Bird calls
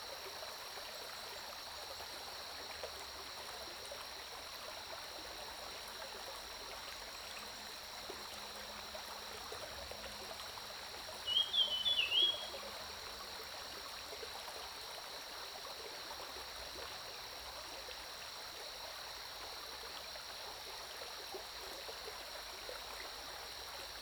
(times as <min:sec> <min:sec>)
0:11.3 0:12.6